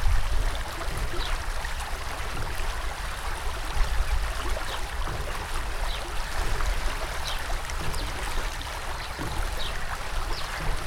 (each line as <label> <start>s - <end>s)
river 0.0s - 10.8s